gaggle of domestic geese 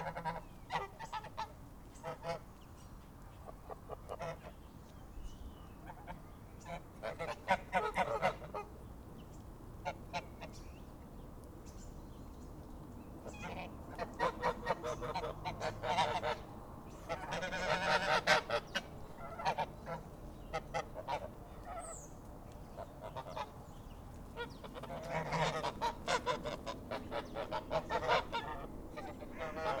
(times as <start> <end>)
0.0 2.4, 3.6 4.5, 5.8 8.7, 13.3 16.4, 17.0 22.0, 22.8 23.6, 24.4 29.8